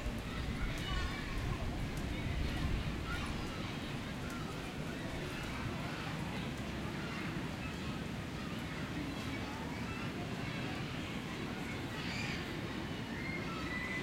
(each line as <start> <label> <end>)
0.0 children's voices 14.0
0.0 people passing-by 14.0